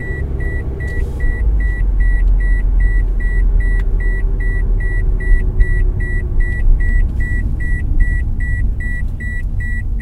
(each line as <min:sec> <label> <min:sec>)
0:00.0 Car 0:10.0